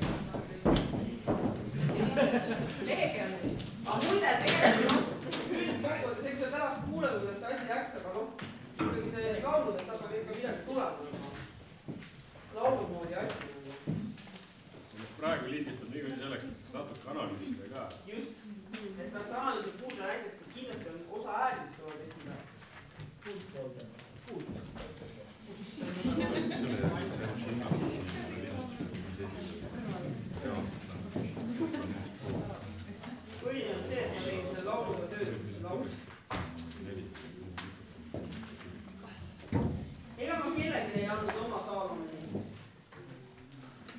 0.0s footsteps 43.9s
23.2s talk 39.2s

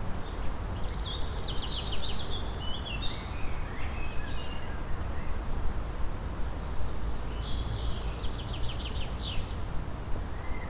0.0s Birds 5.5s
6.3s Birds 10.6s

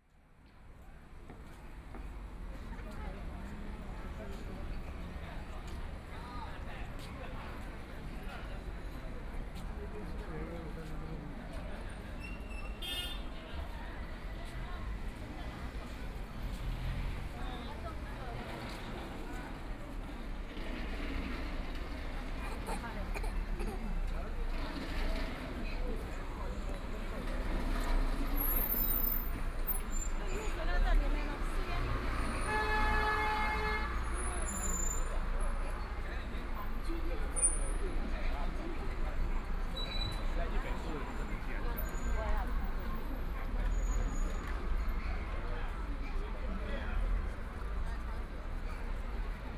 0.0s walking in the Street 49.5s

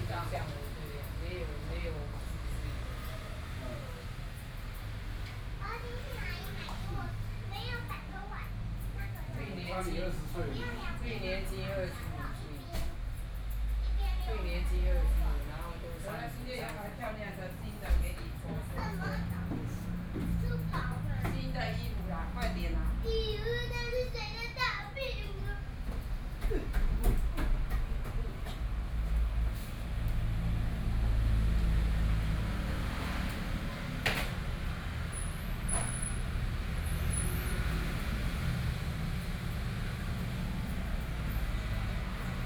0.0s Female hairdresser dialogue between customers 28.6s
0.0s Barber's family 42.4s

